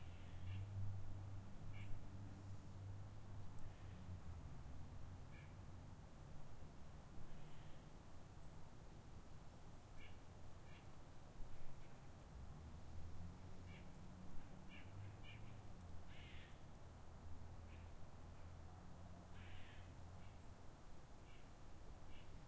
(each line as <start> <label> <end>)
12.1 cars in distance 20.2